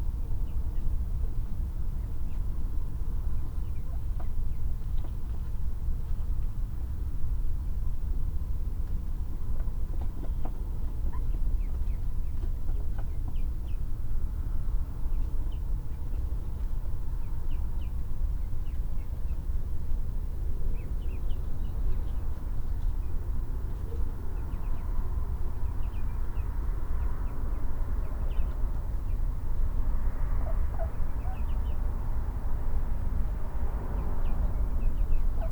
distant traffic 0.0 - 35.5
muntjac calls in the background 30.3 - 32.0
female mallard and her 6 ducklings vocalise 30.4 - 32.0
female mallard and her 6 ducklings vocalise 33.9 - 35.5
muntjac calls in the background 34.0 - 35.5

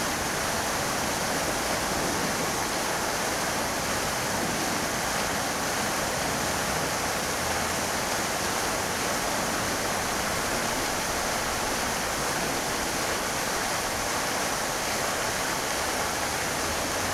fountain 0.0 - 17.1

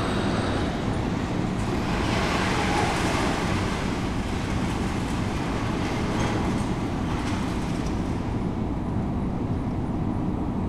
worker unload metal scrap from a boat 1.6 - 8.6

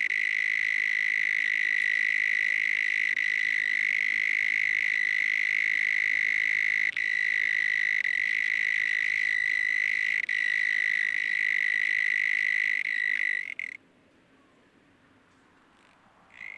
Loud cicada 0.0 - 13.8

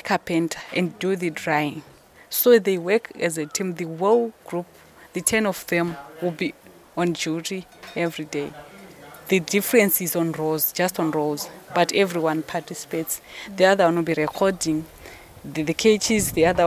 midday breeze 0.0 - 16.6
voices from people working inside 0.0 - 16.6

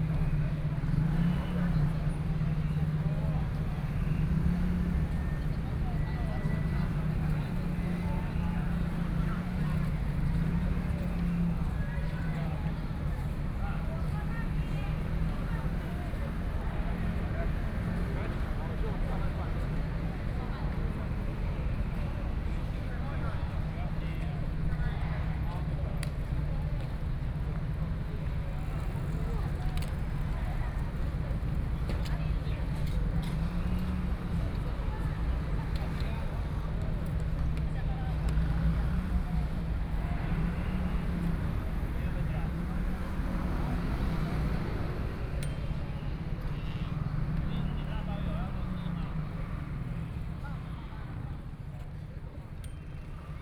Traffic Sound 0.0 - 53.4
Many tourists 0.0 - 53.4

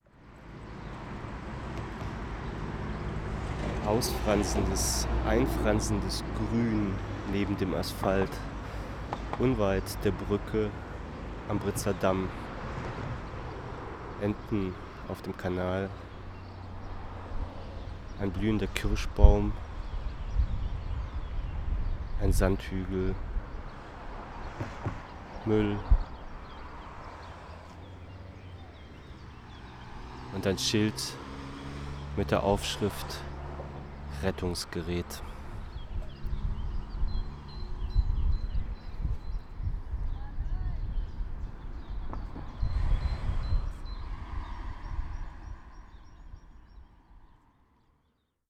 spoken words 3.8 - 8.5
spoken words 9.4 - 10.8
spoken words 11.5 - 12.4
spoken words 14.2 - 16.0
spoken words 18.2 - 19.6
spoken words 22.2 - 23.2
spoken words 25.4 - 26.0
spoken words 30.3 - 31.2
spoken words 32.2 - 33.3
spoken words 34.1 - 35.4
spoken words 40.2 - 40.9

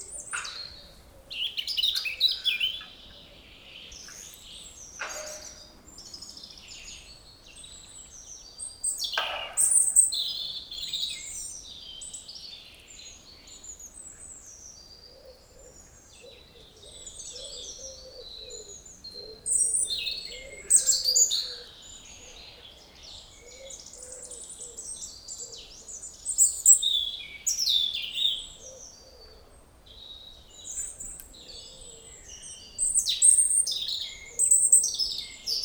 person is working in a garden 0.0 - 17.3
birds sing in the forest 0.0 - 35.6

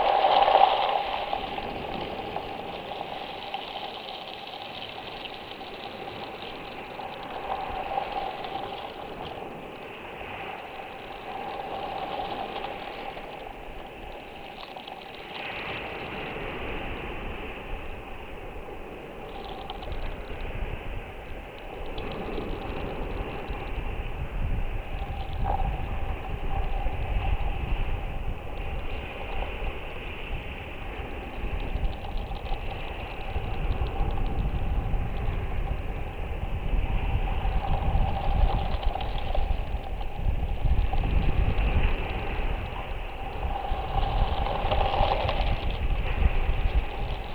Waves and small pebbles washing along a tree trunk 0.0 - 47.3

